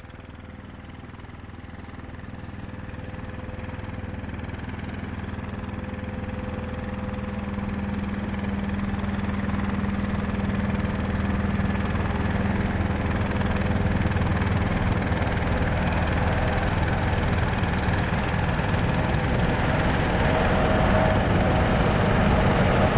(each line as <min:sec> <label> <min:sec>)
0:00.0 river boat passes from left to right 0:22.9
0:01.5 birds 0:22.9
0:12.7 train passes over a railway bridge 0:22.9